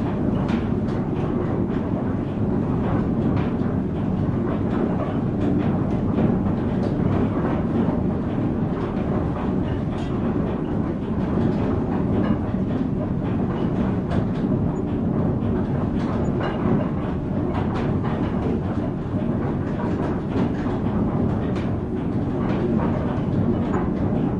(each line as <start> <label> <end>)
0.0 gears in the background 24.3